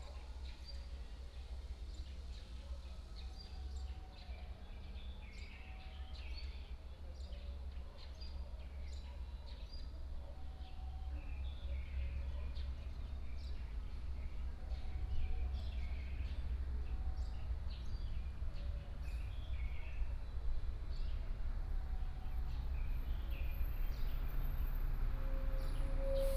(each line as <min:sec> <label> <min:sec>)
0:20.7 Traffic Sound 0:26.3